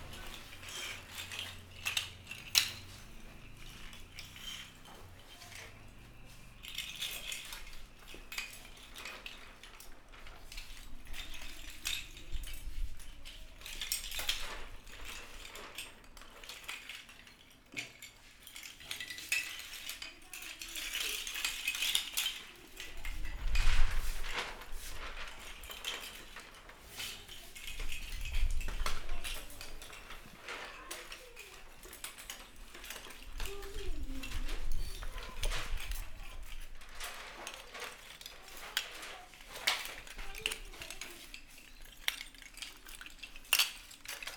0.0s Children's sound 7.8s
19.6s Children's sound 42.8s

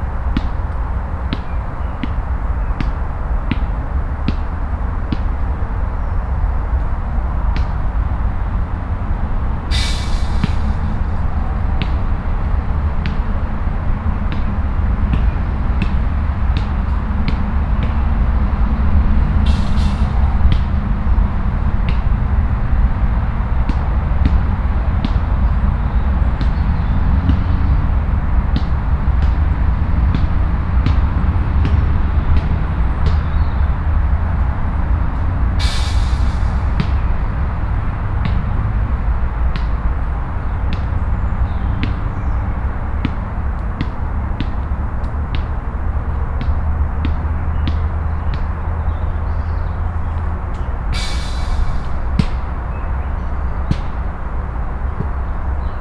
43.0s young man playing basket-ball 45.7s

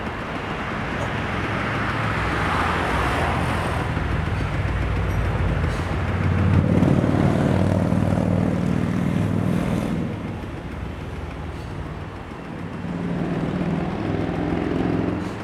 0.0s Traffic Noise 15.4s

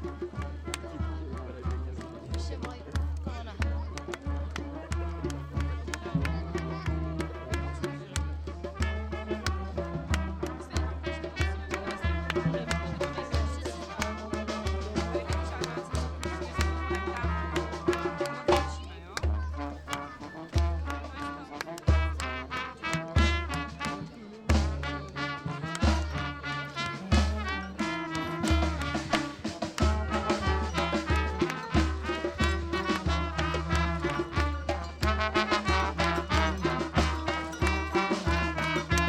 0.0s live music 39.0s
0.0s people in masks 39.0s

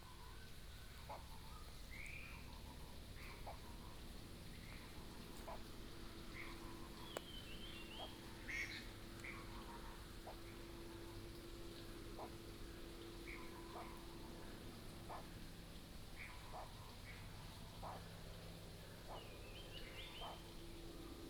0.1s Bird sounds 21.2s

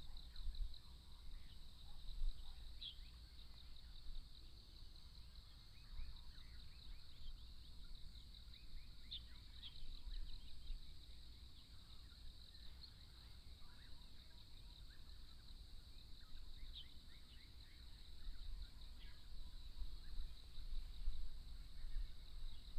0.0s insects 22.7s

